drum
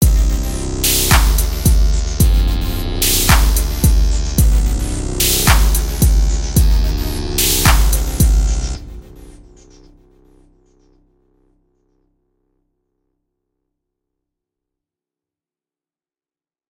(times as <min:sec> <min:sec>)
0:00.0 0:09.8